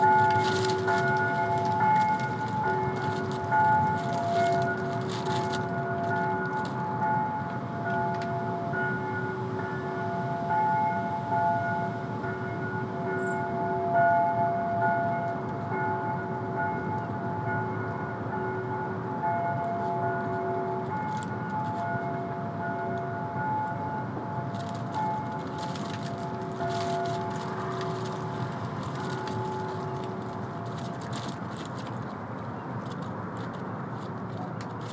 rustling leftovers from a construction site 0:00.0 - 0:08.4
Distant bells 0:00.0 - 0:32.9
rustling leftovers from a construction site 0:19.5 - 0:23.0
rustling leftovers from a construction site 0:24.4 - 0:34.9

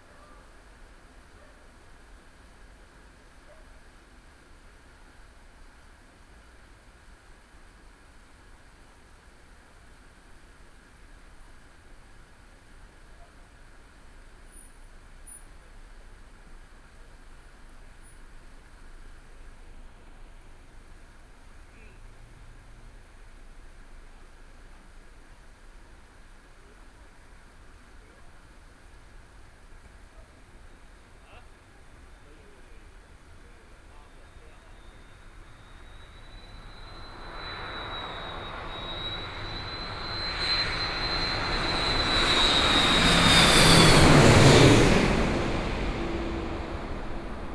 Traffic Sound 0:33.7 - 0:47.5
Aircraft flying through 0:34.2 - 0:47.5

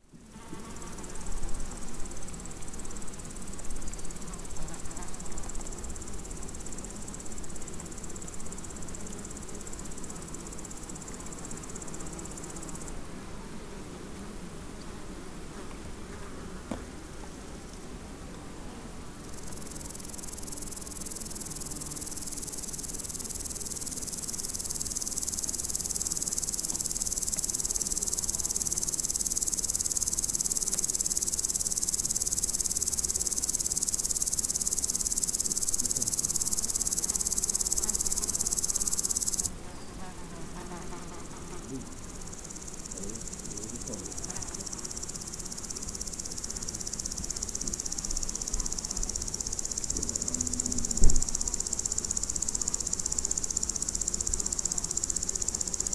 insects on a meadow 0:00.0 - 0:55.9

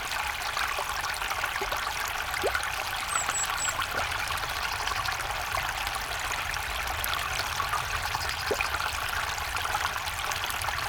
Water from ditch drains into canal pipe 0:00.0 - 0:10.8

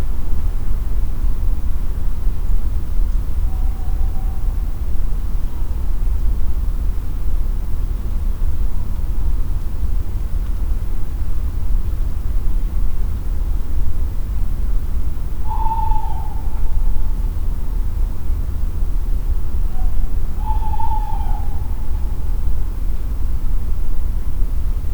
owls are calling 0:03.2 - 0:04.8
owls are calling 0:15.4 - 0:17.4
owls are calling 0:19.6 - 0:22.7

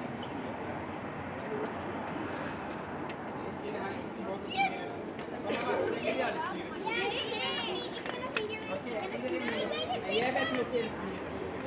traffic noise 0:00.0 - 0:11.6
Children playing 0:04.4 - 0:11.6

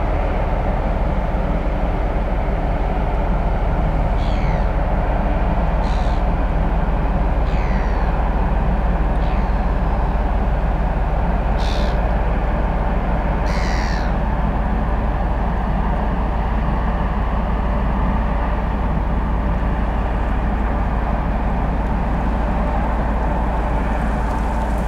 Ship on Kiel Canal passing right to left 0:00.0 - 0:24.8
distant train crossing a bridge 0:00.0 - 0:24.8
waves following the ship 0:00.0 - 0:24.8
birds 0:04.2 - 0:04.7
birds 0:07.5 - 0:08.1
birds 0:11.6 - 0:12.0
birds 0:13.5 - 0:14.2

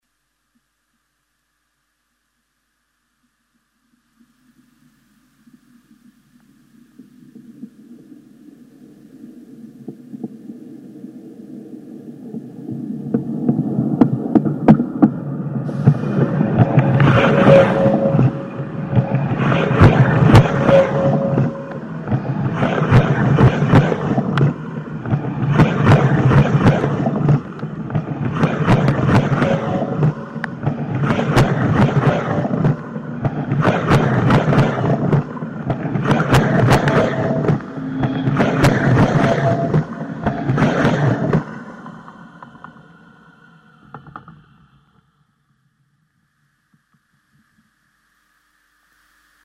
train passing by me 0:14.5 - 0:43.9

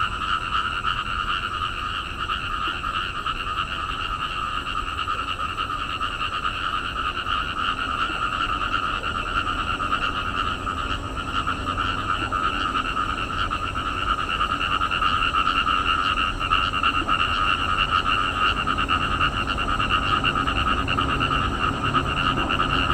Frog chirping 0:00.0 - 0:22.9
traffic sound 0:00.0 - 0:22.9

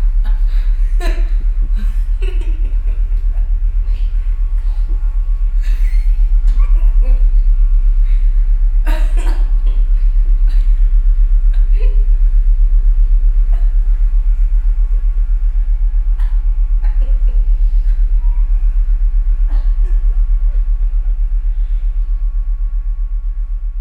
spontaneous laughter of the families son 0:00.2 - 0:07.5

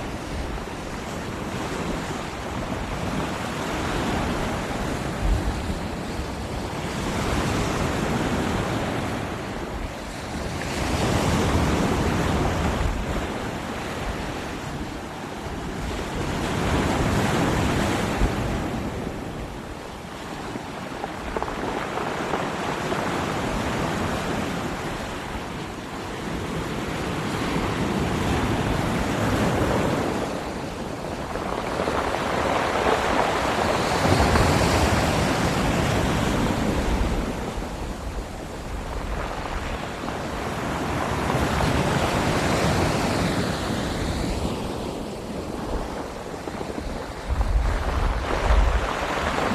waves crashing 0:00.0 - 0:49.5

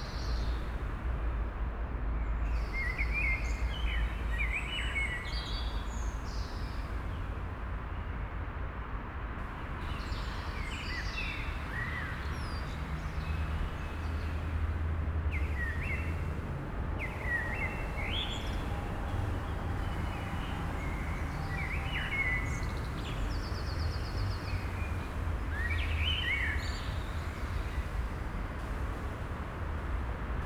traffic increase 0:09.4 - 0:30.4

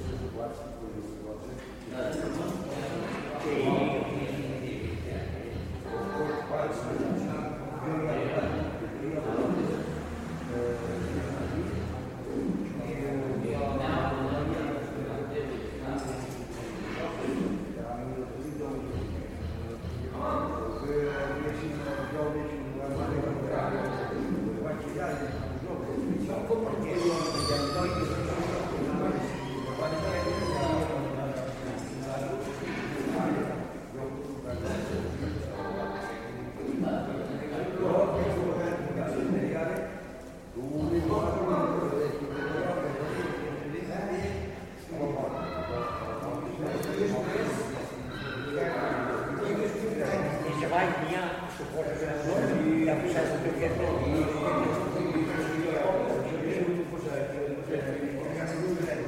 voices filling the space 0:00.0 - 0:59.0

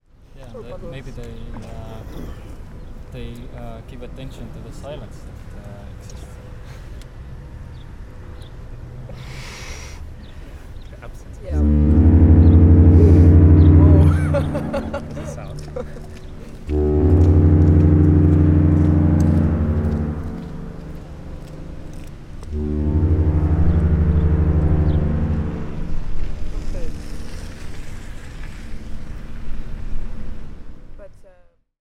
Ship horns 0:11.4 - 0:29.2

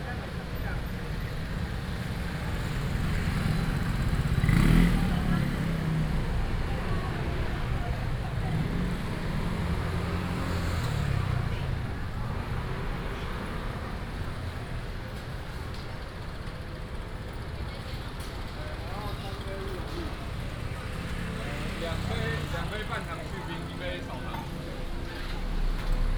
Traffic sound 0:00.0 - 0:26.1
vendors peddling 0:00.0 - 0:26.1

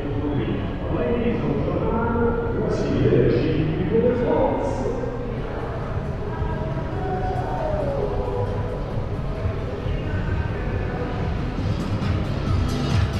advertising and promotional vehicle cavalcade 0:00.0 - 0:13.1

